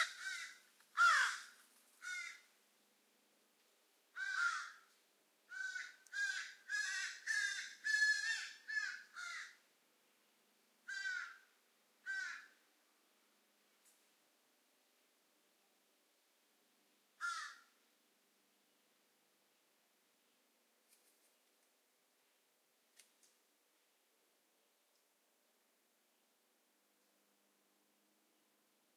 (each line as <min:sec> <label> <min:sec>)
0:00.0 ravens 0:02.5
0:04.1 ravens 0:04.9
0:05.5 ravens 0:09.6
0:10.8 ravens 0:12.6
0:17.2 ravens 0:17.8